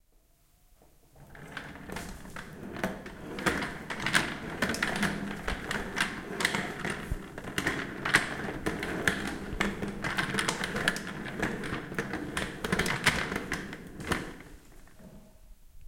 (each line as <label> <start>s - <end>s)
rolling office chair 1.1s - 15.4s